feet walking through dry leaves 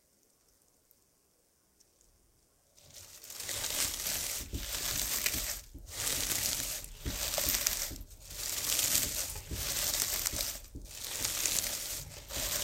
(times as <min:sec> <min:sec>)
0:02.8 0:12.6